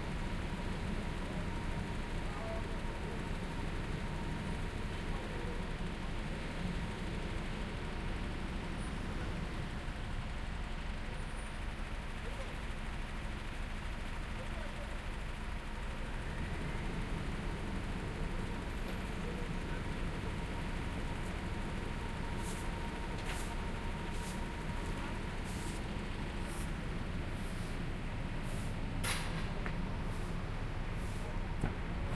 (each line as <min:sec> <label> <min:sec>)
0:00.0 Noisy Construction Site 0:32.1
0:00.0 Traffic 0:32.1
0:00.0 Truck 0:32.1